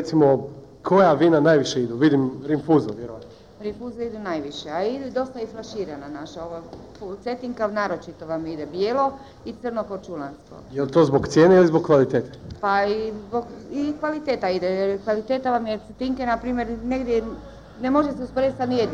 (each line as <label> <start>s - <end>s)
interviews in the streets 1.5s - 18.9s